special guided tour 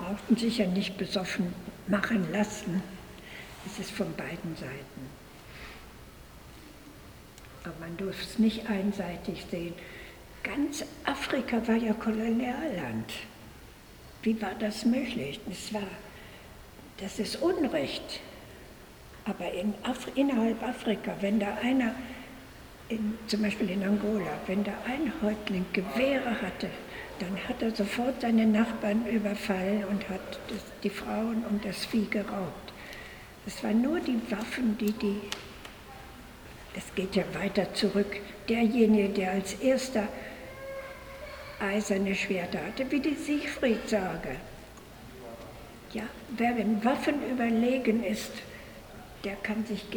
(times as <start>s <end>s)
16.9s 49.9s